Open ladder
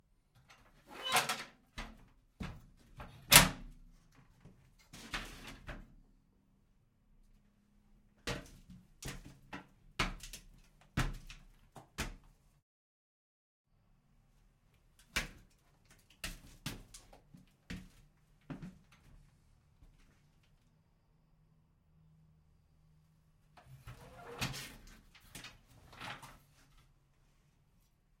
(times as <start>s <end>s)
0.4s 5.9s, 23.6s 27.0s